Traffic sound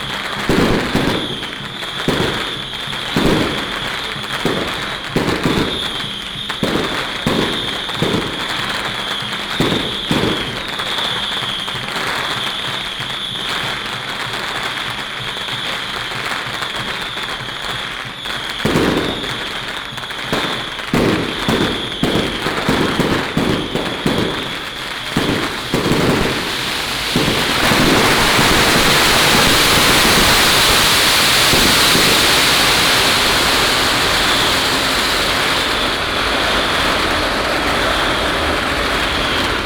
34.2 39.6

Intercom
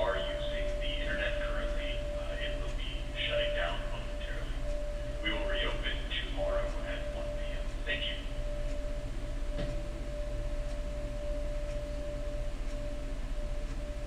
0.0 8.8

